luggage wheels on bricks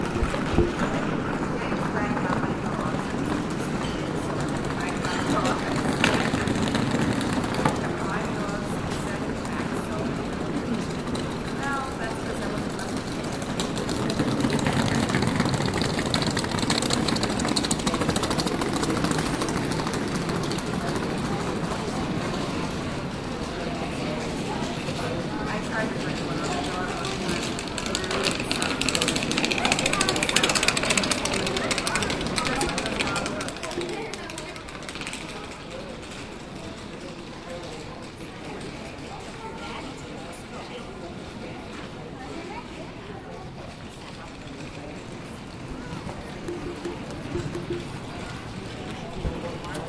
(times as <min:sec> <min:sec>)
0:00.0 0:22.7